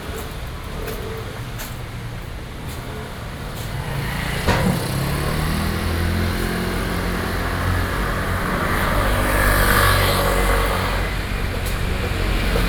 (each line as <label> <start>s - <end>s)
Traffic Noise 0.0s - 12.6s